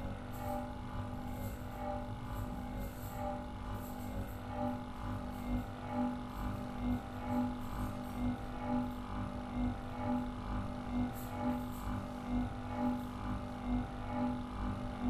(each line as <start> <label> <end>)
0.0 ceiling fan 15.0